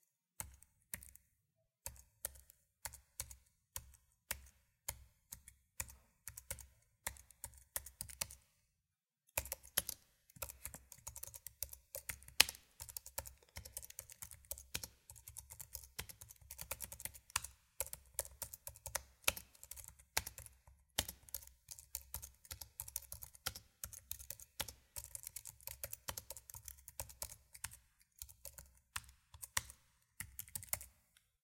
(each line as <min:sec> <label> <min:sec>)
0:00.4 keyboard typing mac 0:08.4
0:09.3 keyboard typing mac 0:31.1